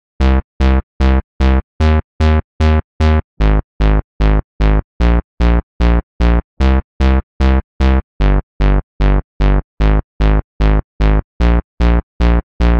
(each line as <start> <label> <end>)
0.0 bass 12.7